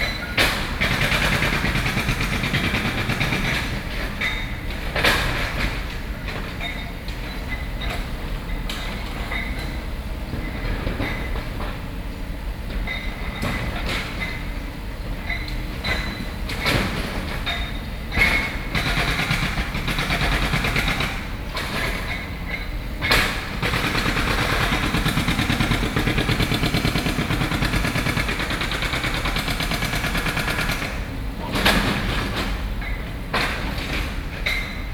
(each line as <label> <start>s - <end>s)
Site construction noise 0.0s - 34.9s